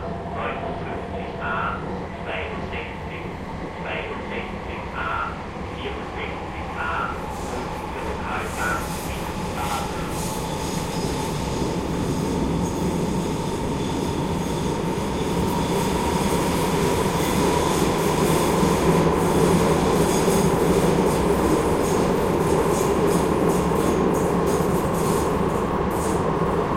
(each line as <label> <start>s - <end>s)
crowded subway (metro) train 0.0s - 26.7s
announcements 0.1s - 10.2s
people talking 0.4s - 7.2s
people talking 7.8s - 10.1s